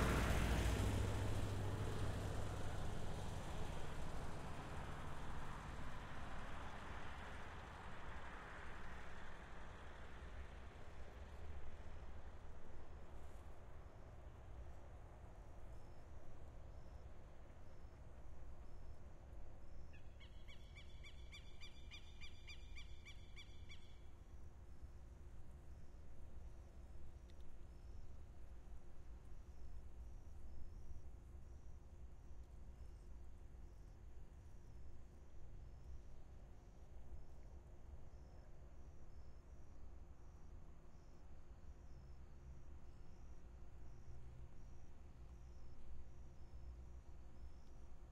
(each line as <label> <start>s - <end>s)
small motorcycles pass by 0.0s - 5.9s
Heavy cargo trucks pass by left to right and right to left 0.0s - 12.0s
cars 0.0s - 19.5s